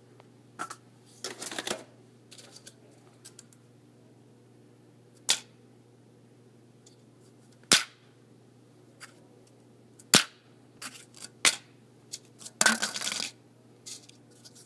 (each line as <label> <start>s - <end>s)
lids being dropped onto a faux wood countertop 12.6s - 13.3s